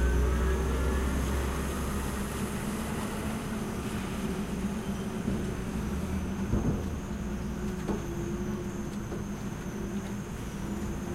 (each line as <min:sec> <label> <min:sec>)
0:00.0 rain 0:08.0
0:00.0 forklift 0:11.1